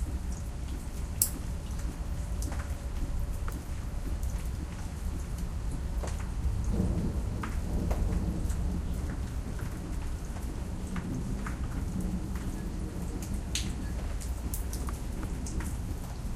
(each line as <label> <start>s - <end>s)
thunder 6.4s - 14.3s